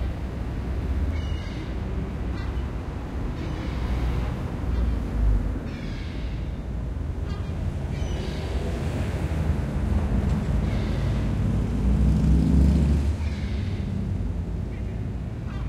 cars passing 0.0 - 15.6

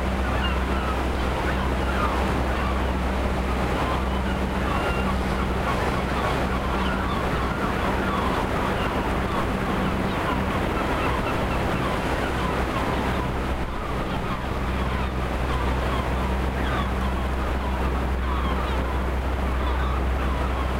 Windy day 0.0 - 20.7
sea 0.0 - 20.7
seagulls flying 0.0 - 20.7

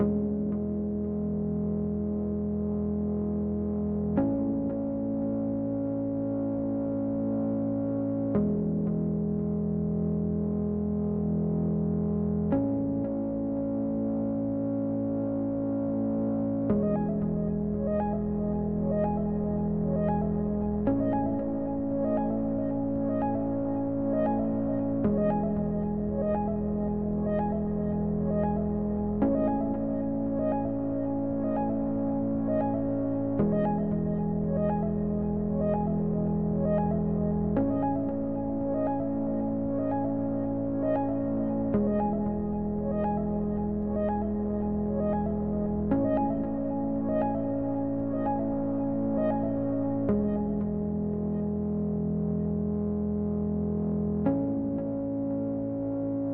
synth 12.5 - 56.3

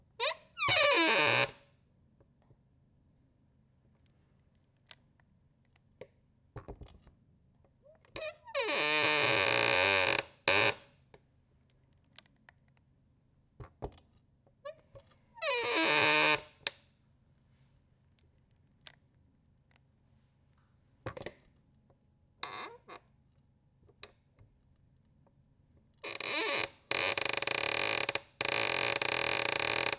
squeaky office chair 0.2 - 1.6
squeaky office chair 8.2 - 10.8
squeaky office chair 15.4 - 16.7
squeaky office chair 26.1 - 29.9

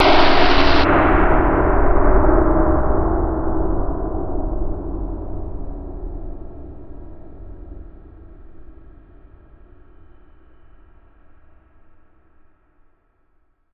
spooky scary surge 0.0 - 1.5

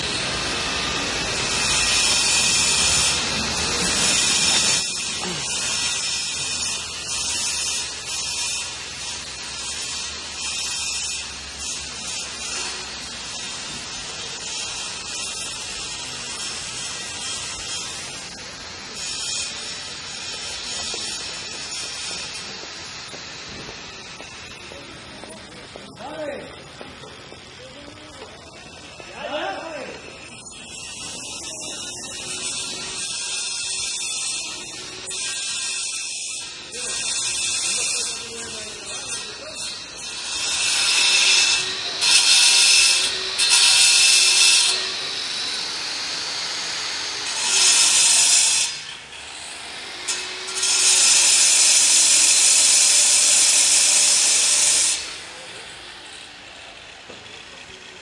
Construction noises 0.0 - 58.0
voices 24.5 - 30.5

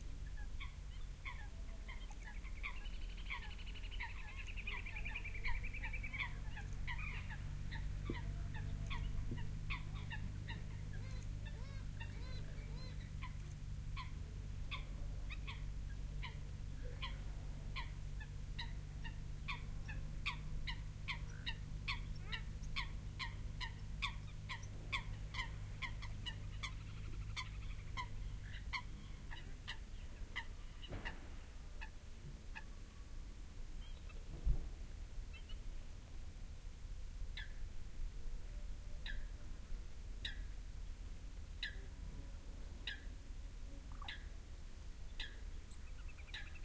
bird calls 0.2 - 32.8
bird calls 33.8 - 34.3
bird calls 35.3 - 35.6
bird calls 37.3 - 37.6
bird calls 39.0 - 39.3
bird calls 40.2 - 40.6
bird calls 41.6 - 41.9
bird calls 42.8 - 43.2
bird calls 43.8 - 44.4
bird calls 45.1 - 46.6

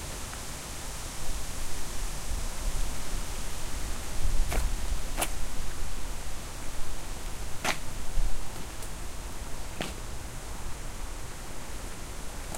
strong wind 0.0 - 12.5
footsteps 7.2 - 9.0
footsteps 9.7 - 10.2

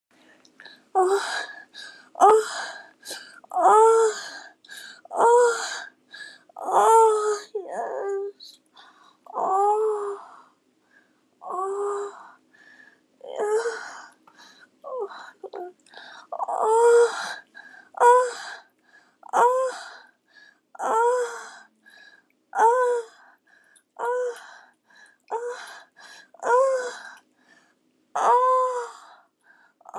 groan 28.2 - 29.1
moan 28.2 - 29.1

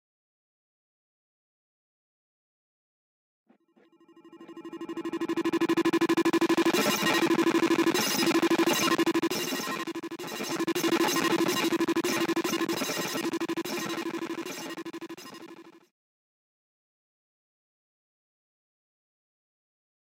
glitched,disturbing sound genereted with mini moog software 4.0 - 15.8

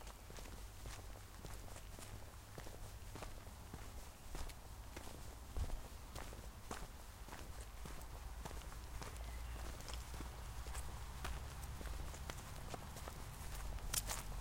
footsteps 0.0 - 14.4
cars in distance 3.4 - 14.4
birds 8.2 - 13.0

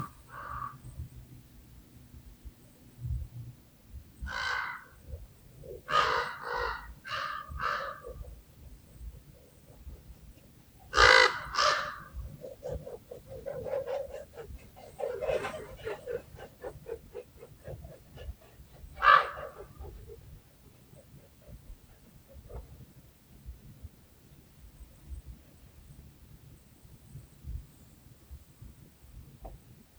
Caws 0.0 - 0.8
Caws 4.2 - 20.3
Wings Batting 10.8 - 20.2

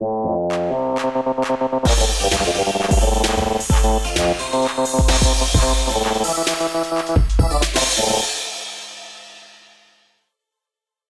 jingle 1.9 - 8.6

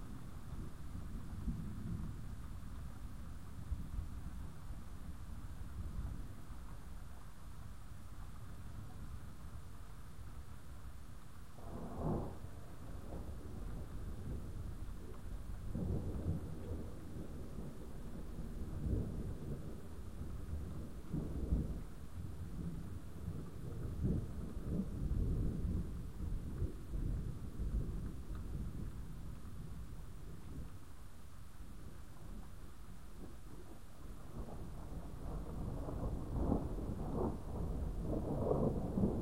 thunder 11.6 - 30.7
thunder 33.2 - 39.2

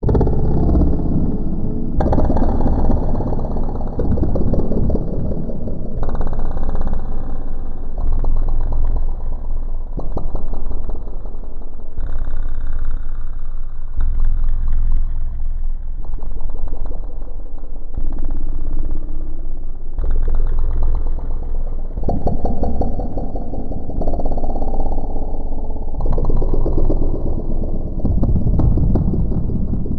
Reverberations and Delays 0.0 - 11.6
Reverberations and Delays 20.7 - 29.9

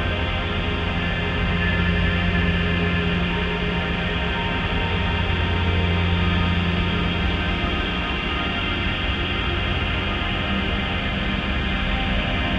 slowly evolving dreamy ambient drone pad 0.0 - 12.5

